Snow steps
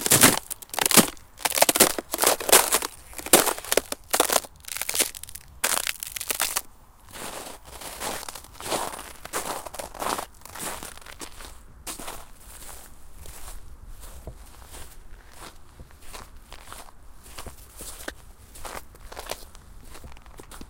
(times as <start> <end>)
0.0 15.0